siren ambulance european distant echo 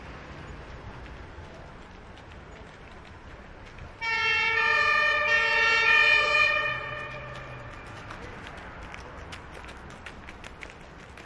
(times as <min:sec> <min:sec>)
0:04.0 0:08.0